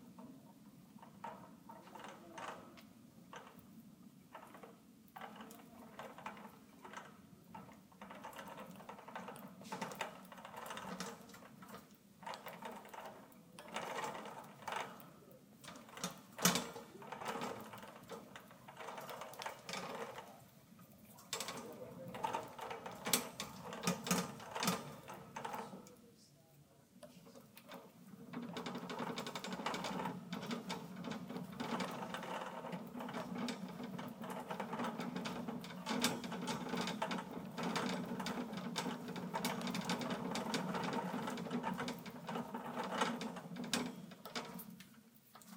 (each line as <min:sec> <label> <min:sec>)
0:04.3 Shopping cart basket being pushed at slow speed 0:20.5
0:21.1 Shopping cart basket being pushed at slow speed 0:25.8
0:27.7 Shopping cart basket being pushed at slow speed 0:45.5